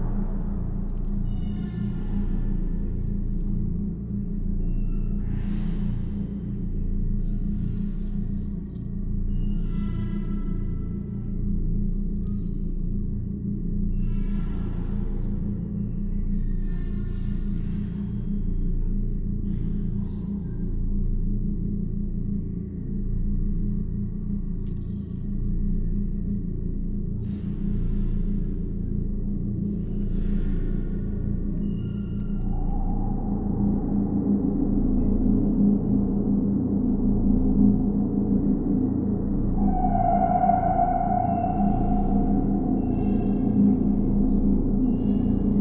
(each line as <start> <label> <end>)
0.0 drone 45.6